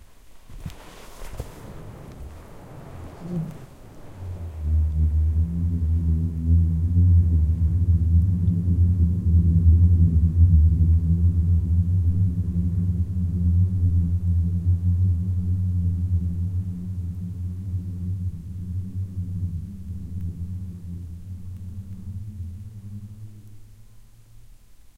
Booming sound created via an avalanche 0:00.3 - 0:05.4

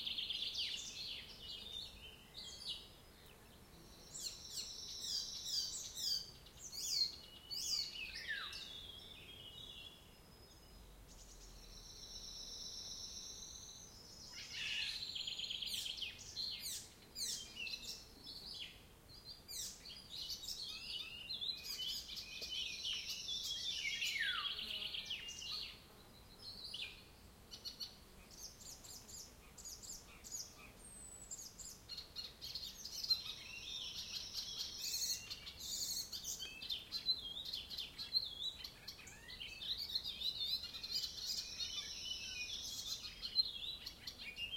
birds singing 0:00.0 - 0:44.5

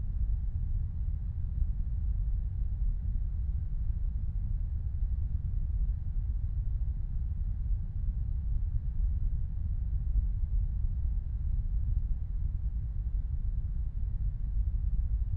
Low Rumble 0:00.0 - 0:15.3

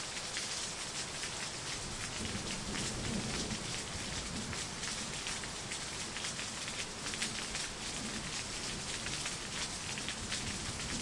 Heavy Rain 0:00.0 - 0:11.0

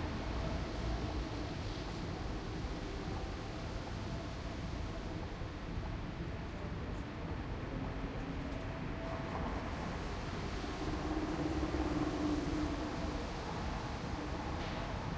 pedestrians 0:00.0 - 0:15.1

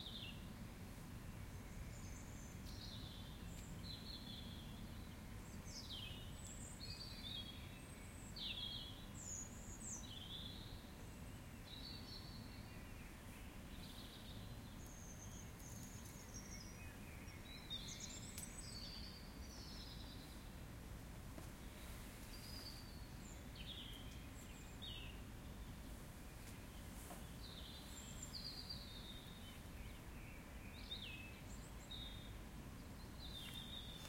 birds 0:00.0 - 0:34.0
winds 0:00.0 - 0:34.0

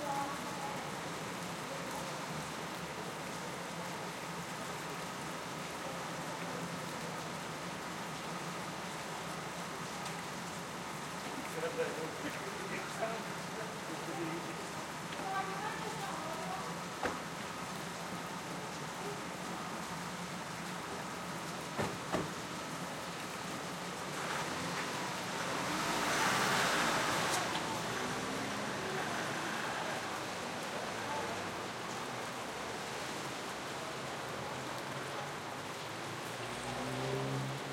heavy rain shower 0:00.0 - 0:37.7

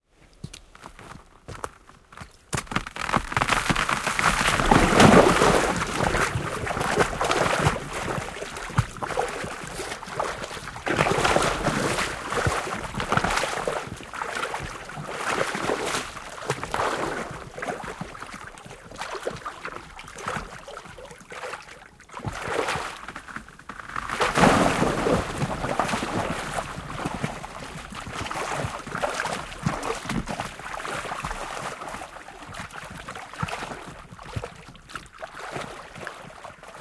Thin ice gives way 0:02.6 - 0:06.2
man falls into icy water, splashing 0:02.7 - 0:13.9
man falls into icy water, splashing 0:23.9 - 0:30.4

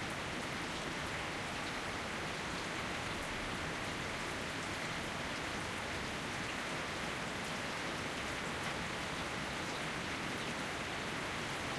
Rain on paving 0:00.0 - 0:11.7

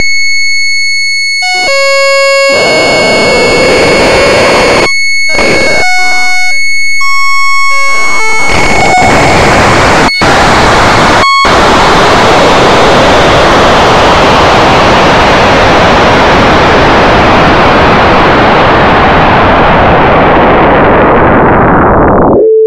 sine oscillator frequency modulating each other 0:00.0 - 0:22.6

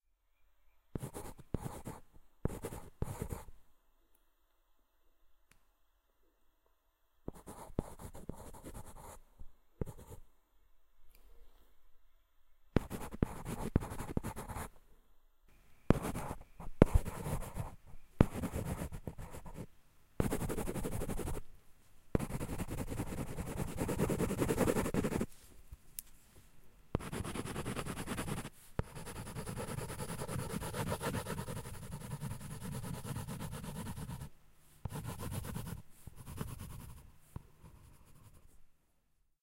pencil scribbling and writing on cardboard 0:01.0 - 0:03.5
pencil scribbling and writing on cardboard 0:07.3 - 0:09.2
pencil scribbling and writing on cardboard 0:09.8 - 0:10.2
pencil scribbling and writing on cardboard 0:12.8 - 0:14.7
pencil scribbling and writing on cardboard 0:15.9 - 0:21.4
pencil scribbling and writing on cardboard 0:22.2 - 0:25.3
pencil scribbling and writing on cardboard 0:27.0 - 0:38.6

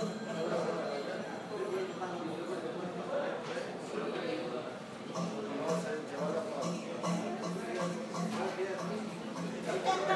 people talking 0:00.0 - 0:10.1

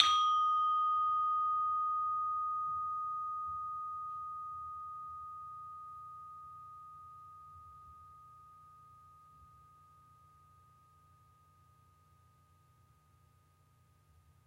SARON (thick bronze bars) 0:00.0 - 0:03.8

